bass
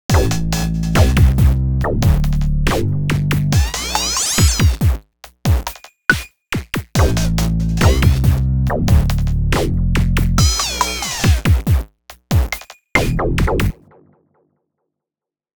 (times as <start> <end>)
0.1 4.6, 7.0 11.4, 13.0 13.8